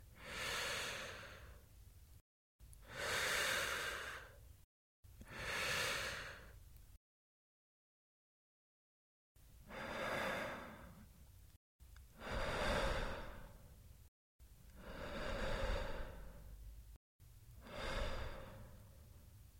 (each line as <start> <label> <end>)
9.7 male slowly breathing in through his mouth 11.1
12.2 male slowly breathing in through his mouth 13.7
14.8 male slowly breathing in through his mouth 16.6
17.6 male slowly breathing in through his mouth 19.0